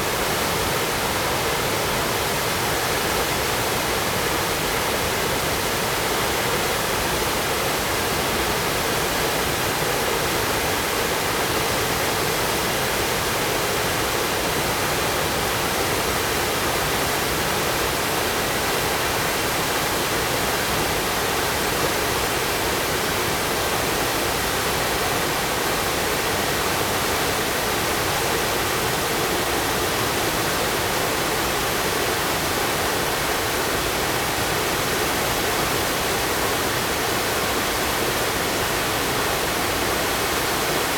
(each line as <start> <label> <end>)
0.0 waterfall 40.9